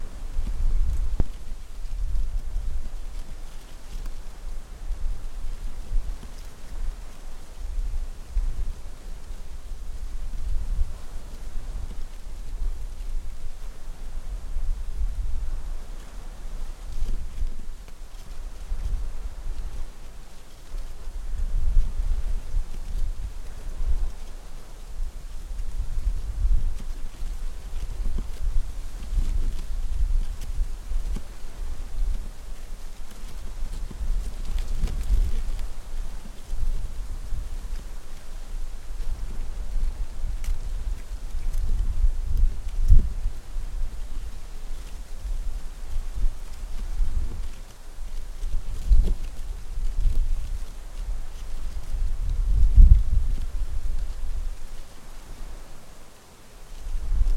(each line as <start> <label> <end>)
0.0 Wind 57.3